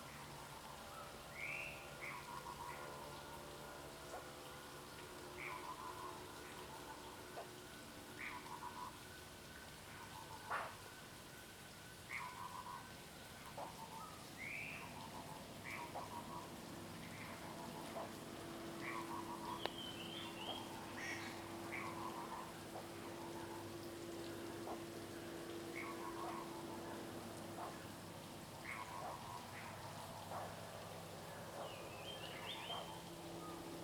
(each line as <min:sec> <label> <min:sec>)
0:13.6 Bird sounds 0:33.8